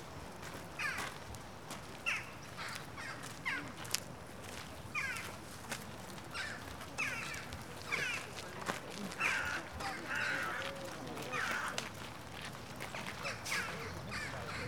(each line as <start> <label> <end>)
0.8 crows 1.2
2.0 crows 3.8
4.9 crows 5.3
6.3 other birds chatting in the trees 11.9
6.3 crows 12.0
13.0 crows 14.6
13.0 other birds chatting in the trees 14.6